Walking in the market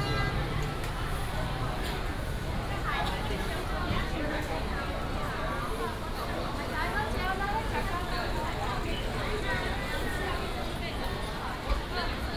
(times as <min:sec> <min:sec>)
0:00.0 0:05.2